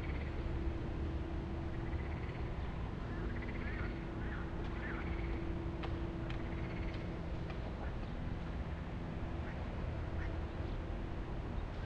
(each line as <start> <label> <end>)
0.0 frogs 0.4
0.0 birds 0.6
0.0 passing by cars 11.8
1.6 birds 11.8
1.7 frogs 2.5
3.1 frogs 5.4
6.5 frogs 7.0